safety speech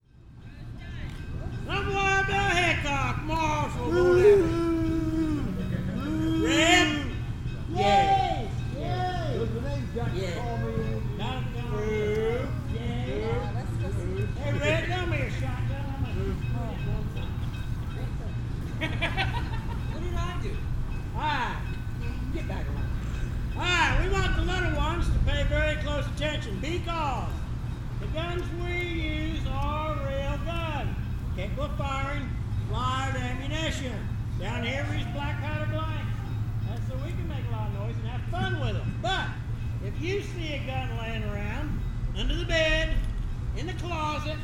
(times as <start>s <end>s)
0.5s 18.5s, 28.0s 44.4s